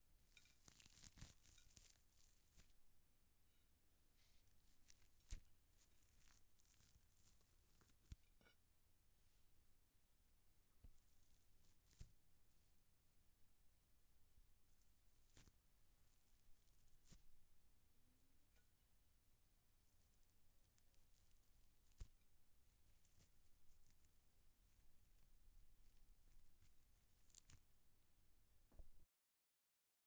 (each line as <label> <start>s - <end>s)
lamb meat being torn from the bone by hand 0.3s - 2.7s
lamb meat being torn from the bone by hand 27.2s - 27.6s